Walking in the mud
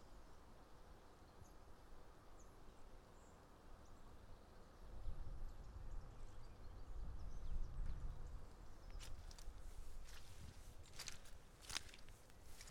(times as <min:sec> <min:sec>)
0:08.9 0:12.7